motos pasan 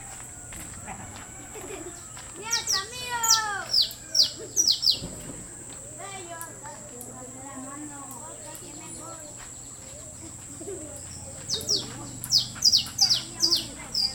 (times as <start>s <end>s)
6.8s 14.1s